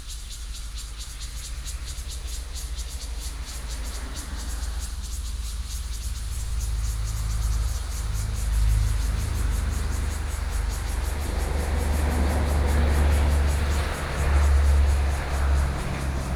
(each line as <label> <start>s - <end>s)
Cicadas sound 0.0s - 16.3s
Traffic Sound 3.3s - 16.3s